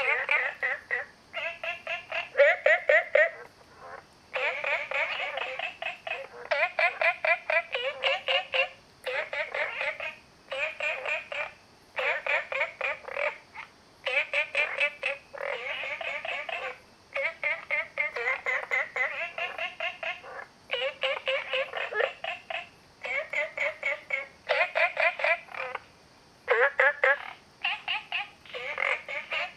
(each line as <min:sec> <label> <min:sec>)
0:00.0 Frogs sound 0:29.5